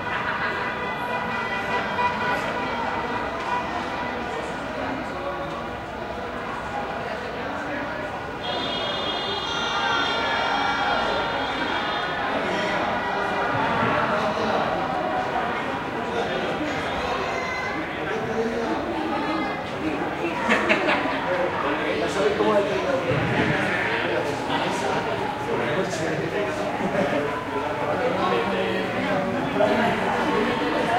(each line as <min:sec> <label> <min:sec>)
0:08.2 people celebrating 0:18.0
0:20.3 people celebrating 0:30.9